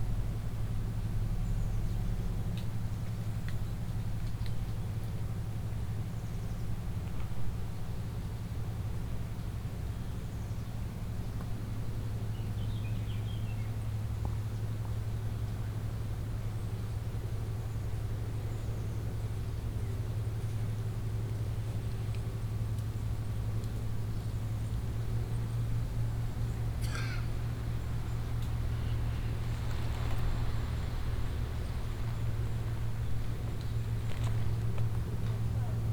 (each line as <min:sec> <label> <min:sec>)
0:00.0 diesel engine of a ferry 0:35.9
0:26.6 hikers passing by 0:35.9